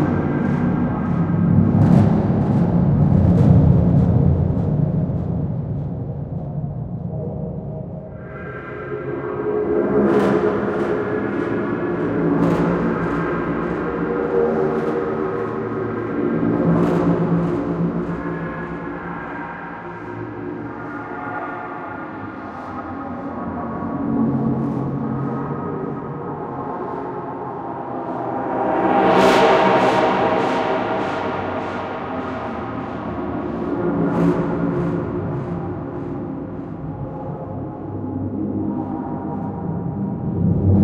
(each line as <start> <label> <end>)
0.0 Drone 40.8